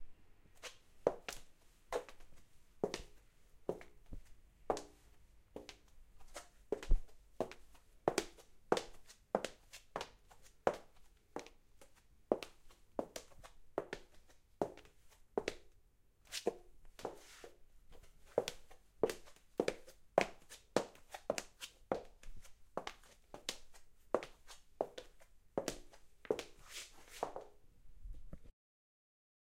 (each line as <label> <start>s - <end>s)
woman in heels footsteps 17.9s - 27.6s